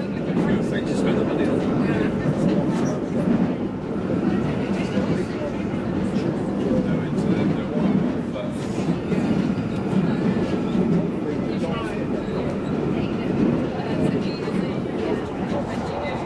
0.0s Train arrives and departs from stations 16.2s
0.0s in-train announcements 16.2s
0.0s people 16.2s

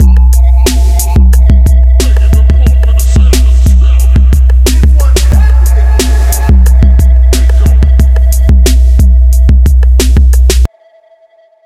0.0s drums 10.7s

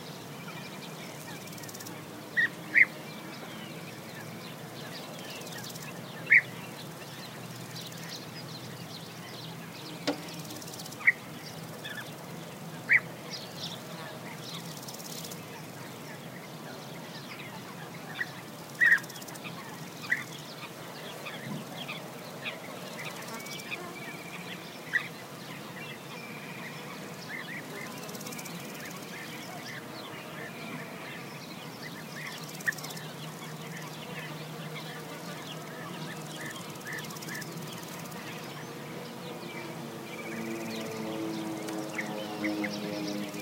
0.0s beeaters 43.4s
0.0s insects 43.4s
38.6s airplane 43.4s

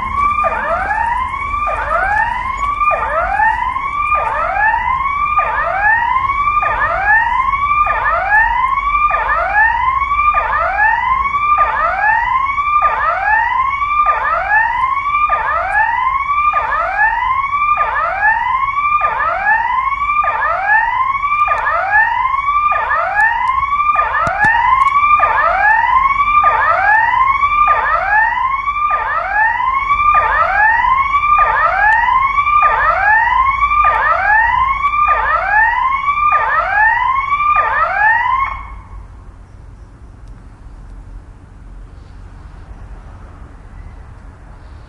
0.0s cars passing 36.6s
0.0s alarm siren of a house 39.3s
38.7s cars passing 44.8s

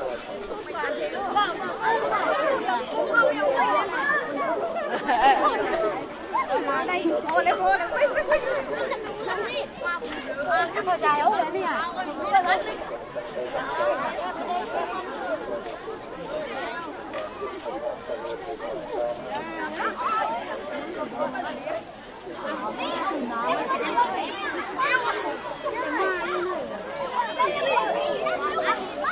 0.0s crowd 29.1s
0.0s monk 29.1s

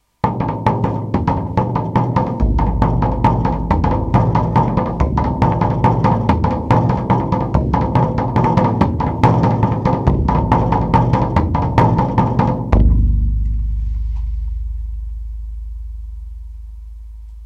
0.2s three drums 17.4s

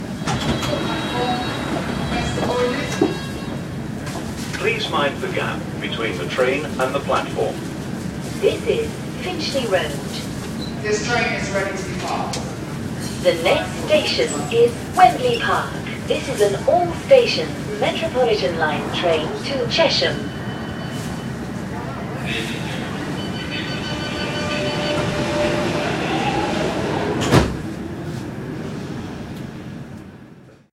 0.0s doors closing 4.7s
0.0s announcements from in the station 30.6s
0.0s another train departing 30.7s
0.0s tube train arrives at a station 30.7s
22.8s doors closing 28.2s
23.0s beeps 25.6s

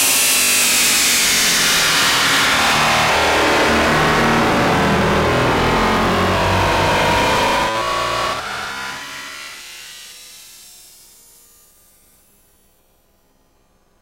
2.4s feedback loop 9.4s

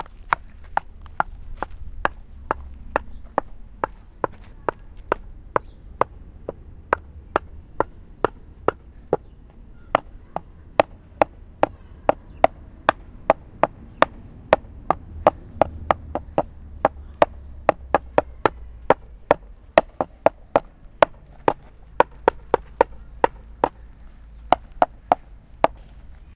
9.9s Knocking on wood 23.8s
24.5s Knocking on wood 25.9s

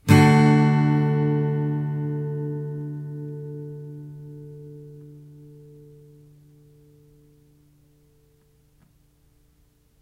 0.0s Chords strummed with a metal pick 8.8s

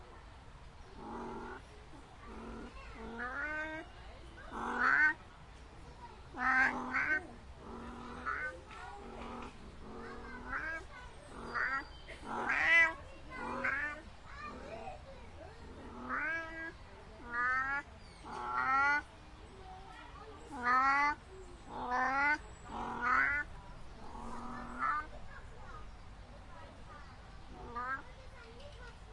0.9s Rutting call during mating season of a European wildcat 1.7s
2.3s Rutting call during mating season of a European wildcat 5.2s
6.3s Rutting call during mating season of a European wildcat 14.1s
15.8s Rutting call during mating season of a European wildcat 19.1s
20.5s Rutting call during mating season of a European wildcat 25.1s
27.5s Rutting call during mating season of a European wildcat 28.0s

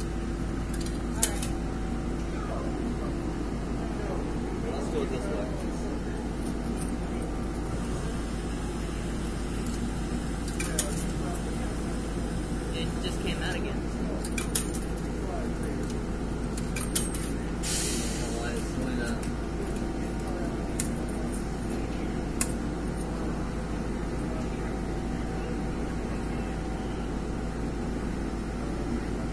0.0s trains 29.3s
2.2s speech 6.3s
10.5s speech 12.0s
12.6s speech 14.4s
15.0s speech 16.0s
18.1s speech 22.4s
23.1s speech 27.2s

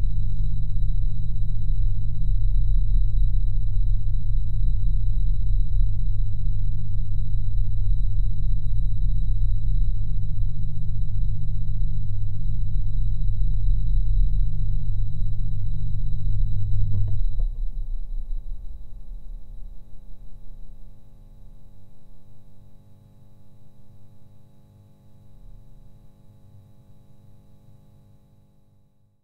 16.6s Fan On Off 20.9s

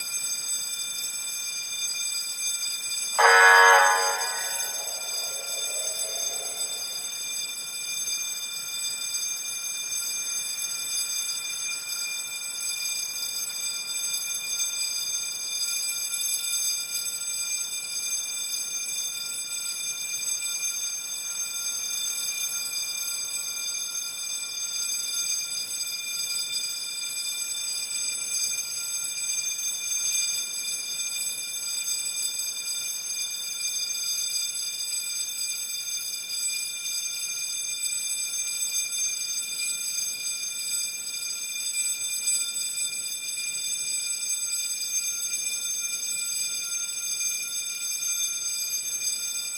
3.2s bleeped his siren 7.1s
3.2s Burglar Alarm 7.2s

